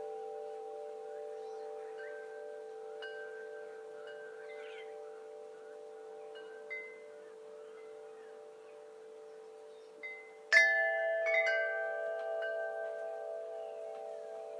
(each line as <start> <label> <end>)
0.0 birds 14.5
0.0 wind chimes 14.5